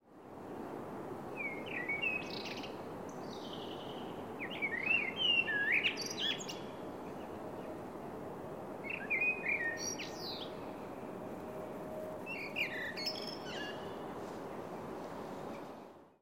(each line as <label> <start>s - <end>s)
Bird singing 1.4s - 7.8s
Bird singing 8.8s - 11.2s
Bird singing 11.9s - 14.1s